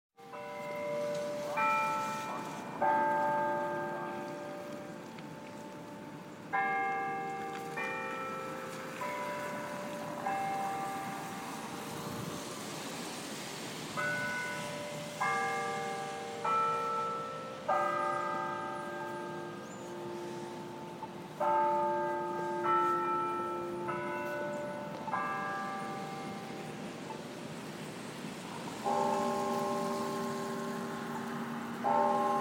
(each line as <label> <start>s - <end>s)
Bell tower 0.2s - 32.4s